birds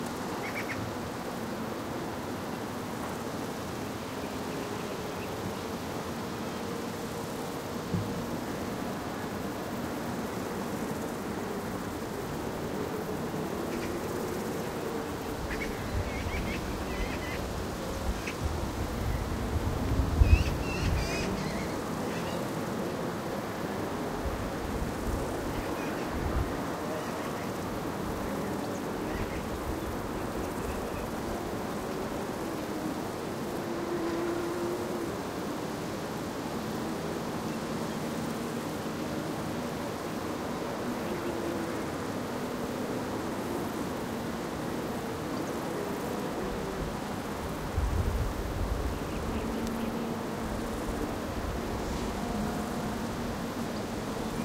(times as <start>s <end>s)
13.6s 19.3s, 20.2s 22.5s